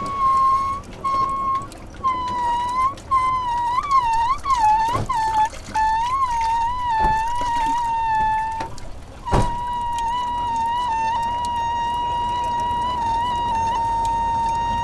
faucet instrument 0.0 - 14.8

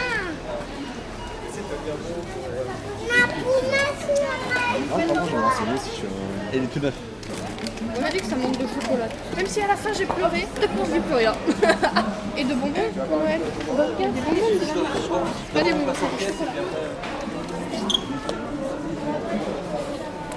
clients in the supermarket 0.0 - 11.8
clients in the supermarket 13.3 - 20.3

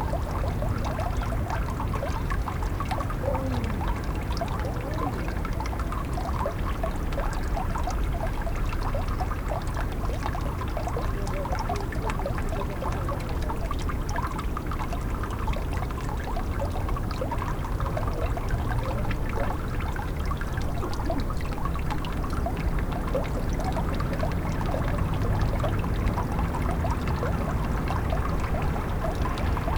melt water runs down into landwehrkanal 0.0 - 29.7

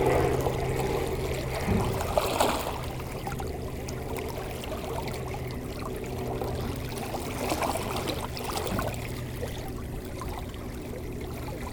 helicopter passing 0.0 - 8.4
water flowing 0.0 - 11.7

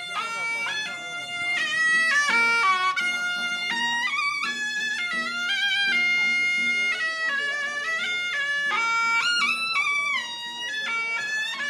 people go for blessing and celebration 0.0 - 3.9

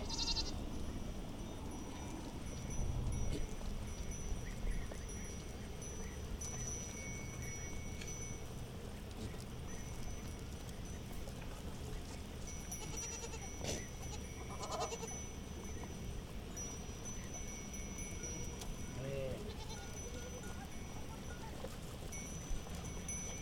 Sheppard and his goats 0.0 - 23.4

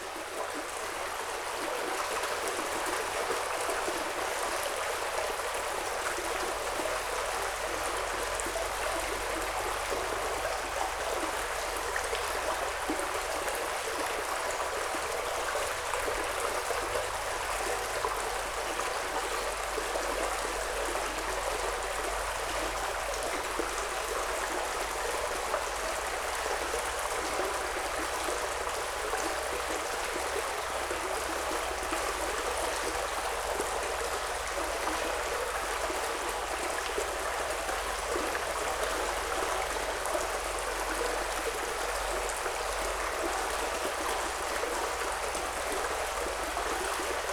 small river in the tube under the road 0.0 - 47.3

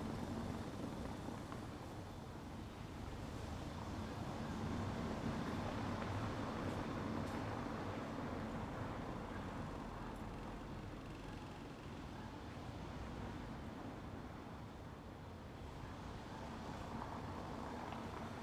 traffic noise 0.0 - 18.4

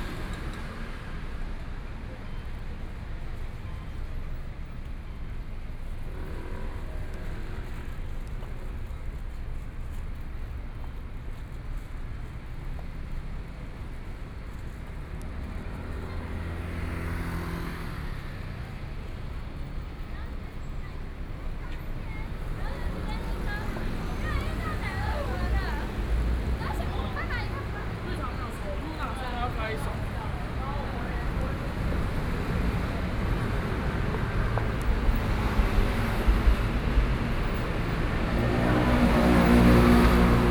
Traffic Sound 0.0 - 40.5
walking on the Road 0.0 - 40.5

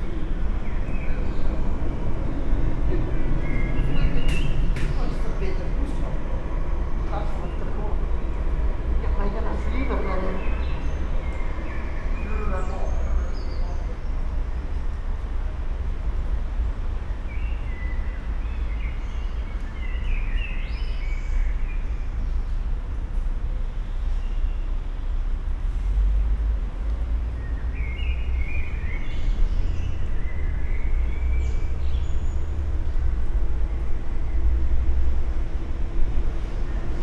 resonances and traffic sounds 0.0 - 37.0

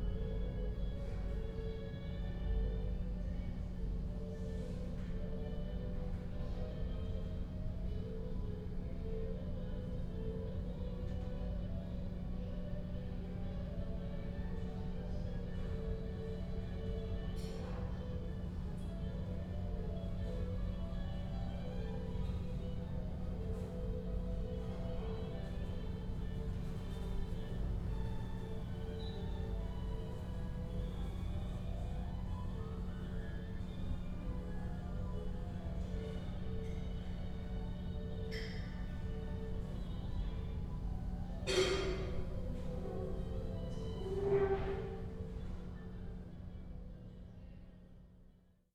classical music from a radio 12.6 - 46.2

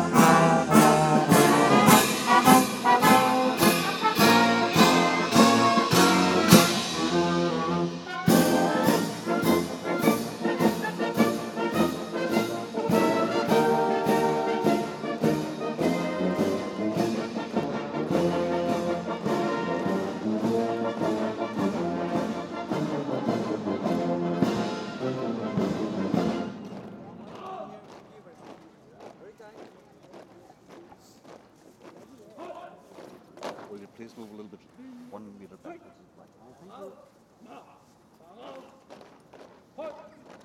marching band 0.0 - 34.4

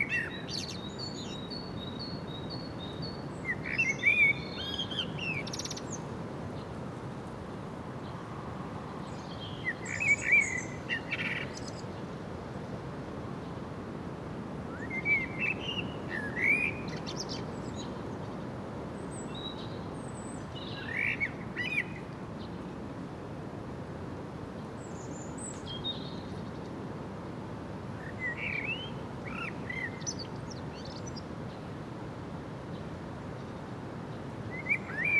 blackbirds singing and calling 0.0 - 6.1
constant wind in the populus and other trees 0.0 - 35.1
omnipresent distant traffic noise 0.0 - 35.1
blackbirds singing and calling 9.1 - 11.9
blackbirds singing and calling 14.8 - 18.0
blackbirds singing and calling 19.1 - 22.0
blackbirds singing and calling 28.0 - 31.2
blackbirds singing and calling 34.5 - 35.1

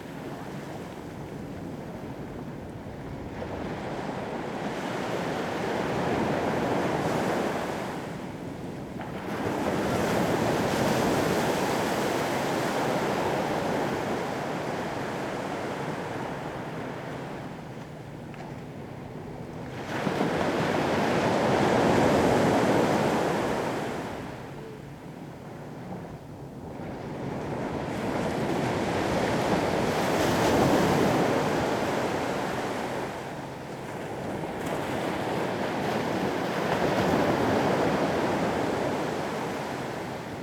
sea 0.0 - 40.4

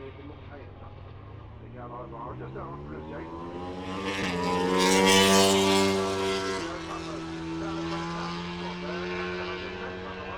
commentary 0.0 - 10.3
motorcycle grand prix 0.0 - 10.3

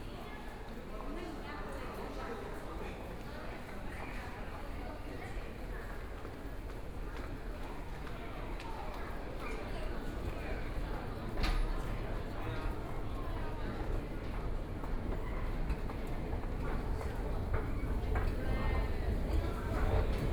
walking in the station 0.0 - 20.3

